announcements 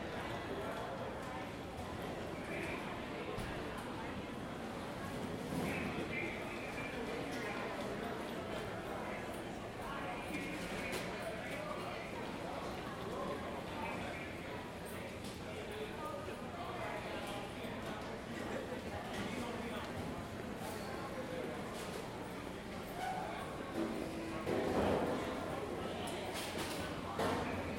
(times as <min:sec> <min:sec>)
0:01.4 0:15.2